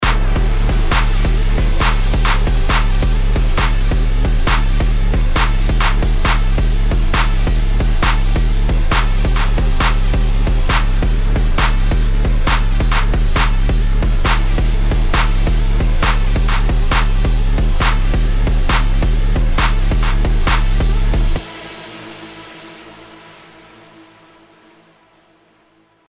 synth 0.0 - 25.8
handclap 11.6 - 17.2

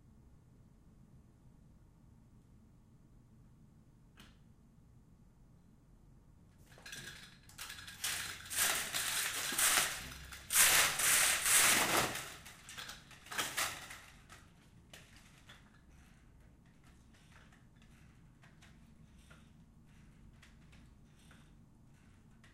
Opening vertical blinds 6.7 - 19.4

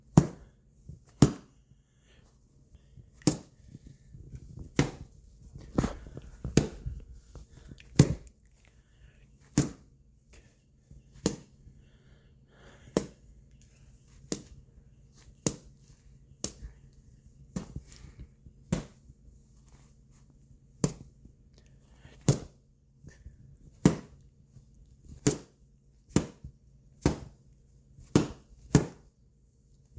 Boxing glove hits 0.1 - 0.5
Boxing glove hits 1.1 - 1.5
Boxing glove hits 3.2 - 7.2
Boxing glove hits 7.9 - 8.3
Boxing glove hits 9.6 - 9.9
Boxing glove hits 11.2 - 11.6
Boxing glove hits 15.4 - 15.7
Boxing glove hits 18.7 - 19.0
Boxing glove hits 22.2 - 22.6
Boxing glove hits 23.8 - 24.2
Boxing glove hits 25.2 - 27.4
Boxing glove hits 28.0 - 29.1

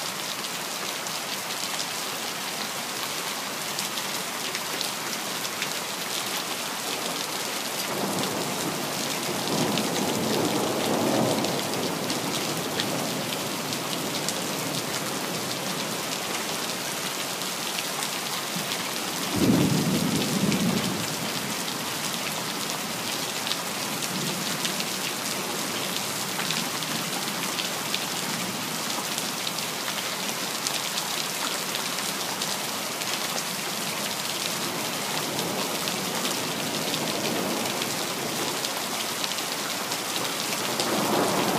heavy rain 0.0 - 41.5

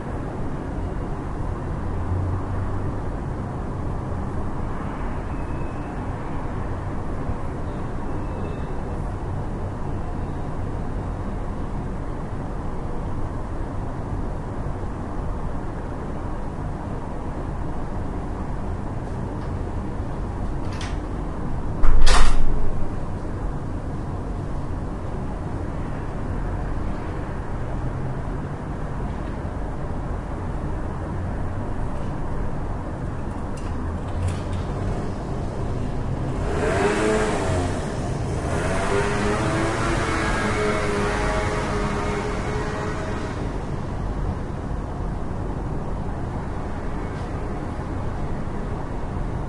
urban noise 0.0 - 49.4
closing the door 21.8 - 22.7

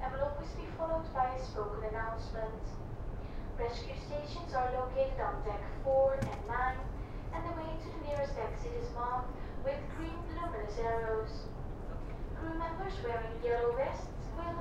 ferry leaving the port 0.1 - 14.6
announcements 4.6 - 11.3

